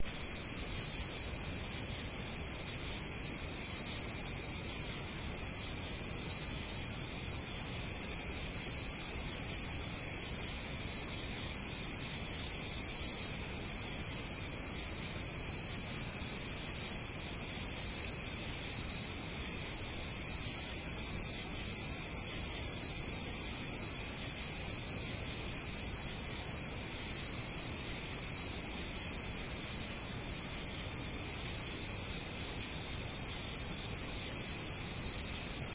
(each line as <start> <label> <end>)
0.0 crickets 35.7
0.0 frogs 35.7